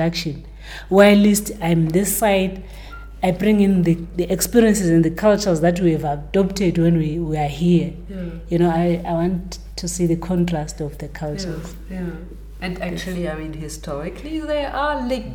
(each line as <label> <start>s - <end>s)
talks history in her new production 0.0s - 15.3s